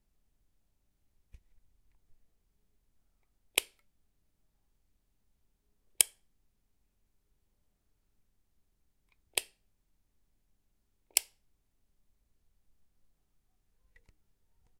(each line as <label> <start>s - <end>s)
plastic light switch being flicked on and off 3.5s - 3.9s
plastic light switch being flicked on and off 6.0s - 6.2s
plastic light switch being flicked on and off 9.1s - 9.6s
plastic light switch being flicked on and off 11.1s - 11.4s